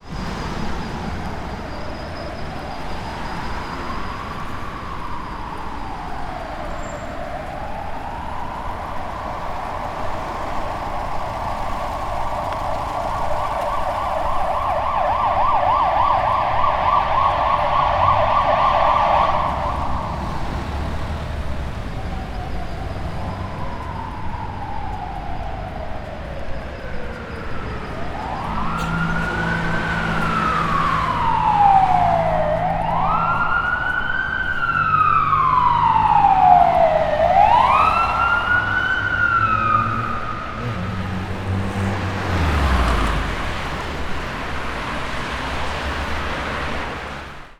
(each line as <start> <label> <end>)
0.0 Fire Engine passing by 47.5
0.0 traffic 47.5